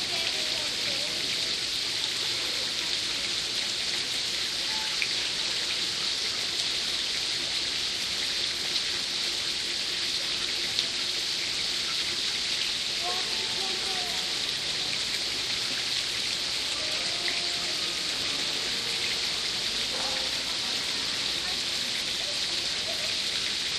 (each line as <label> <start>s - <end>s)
waterfalls of a fountain 0.0s - 23.7s